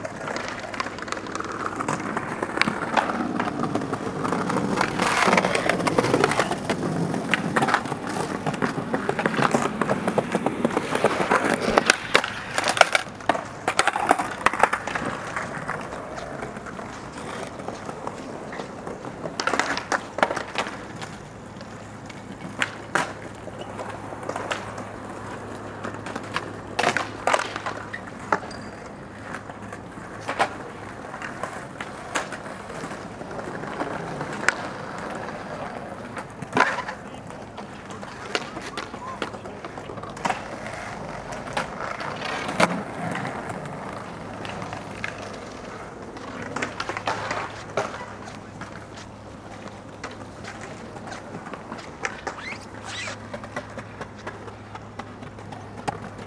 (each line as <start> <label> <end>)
0.0 skateboarding youth 56.2